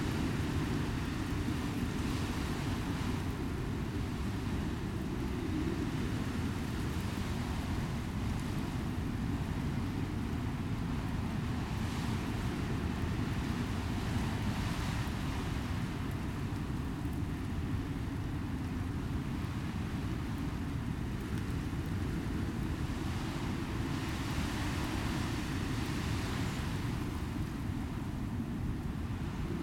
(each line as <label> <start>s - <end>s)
Howling Wind 0.0s - 29.6s